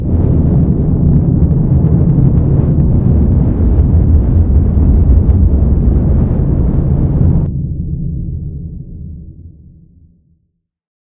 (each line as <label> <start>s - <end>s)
Large Rocket Engine 0.0s - 9.5s